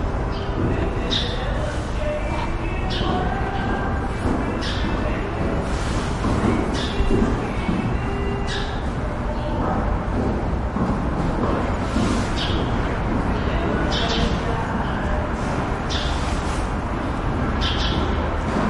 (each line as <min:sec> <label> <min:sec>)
0:00.2 birds 0:09.6
0:11.6 birds 0:15.2
0:15.8 birds 0:18.6